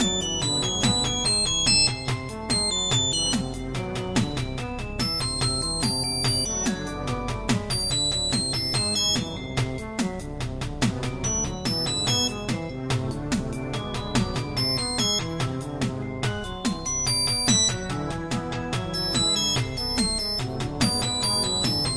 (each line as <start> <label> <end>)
0.0 beat 21.9